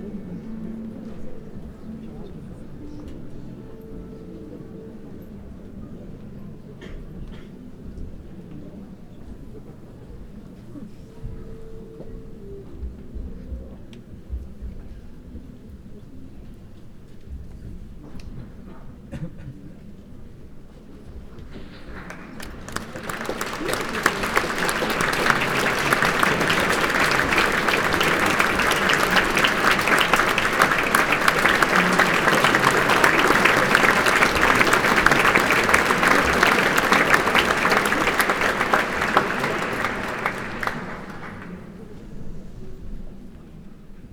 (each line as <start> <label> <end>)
21.5 crowd clapping 42.0
22.0 orchestra tuning 41.9